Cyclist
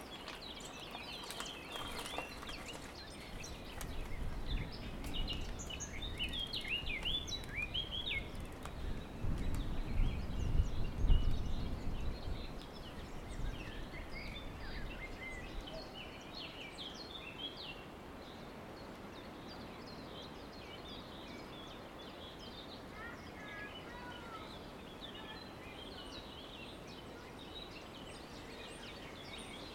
0:00.0 0:15.6

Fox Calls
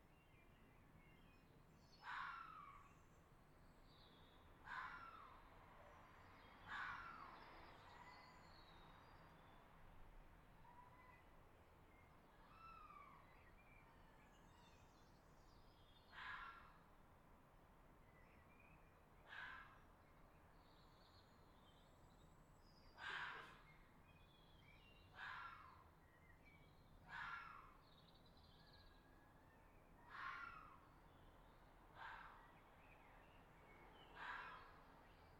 0:19.3 0:19.8, 0:23.0 0:23.6, 0:25.2 0:25.8, 0:27.1 0:27.8, 0:30.1 0:30.8, 0:32.0 0:32.4, 0:34.2 0:34.7

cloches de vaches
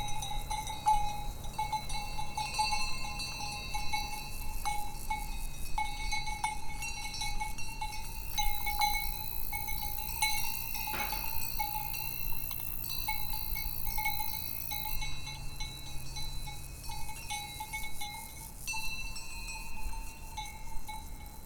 0:08.0 0:15.3

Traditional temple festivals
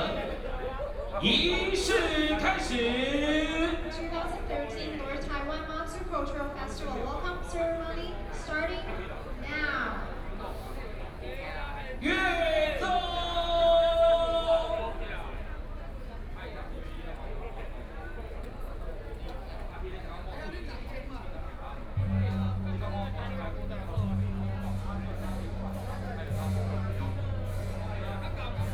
0:10.0 0:28.7

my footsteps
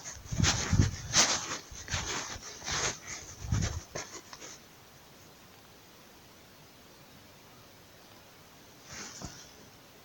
0:00.0 0:04.6

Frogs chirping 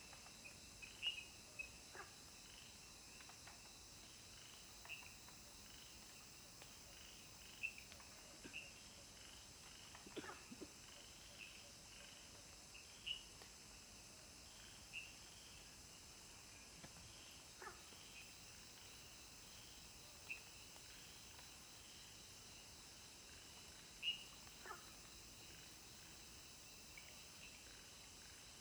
0:17.6 0:22.8, 0:23.4 0:28.1

